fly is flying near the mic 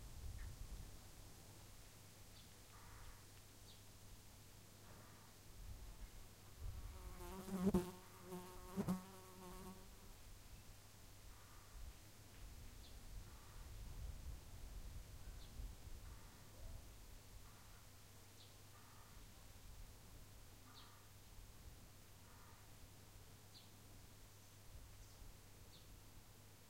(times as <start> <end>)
6.6 10.0